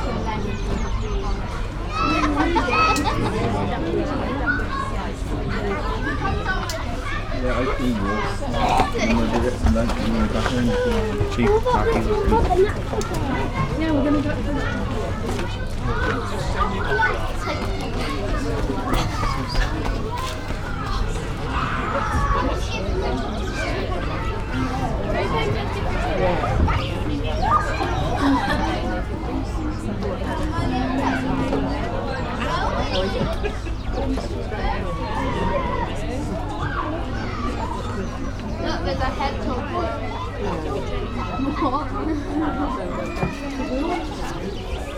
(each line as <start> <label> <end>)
0.0 Voices 44.9